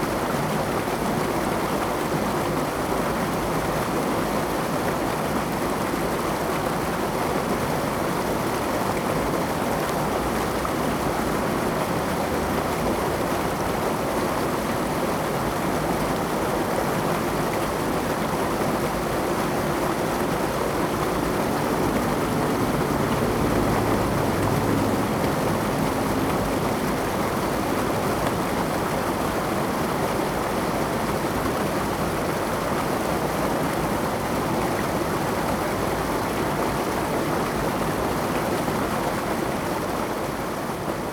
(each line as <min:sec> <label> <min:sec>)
0:18.6 Streams 0:31.8